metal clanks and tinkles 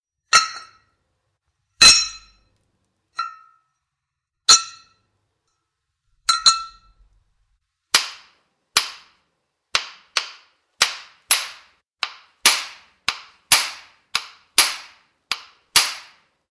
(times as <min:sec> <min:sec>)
0:06.3 0:07.0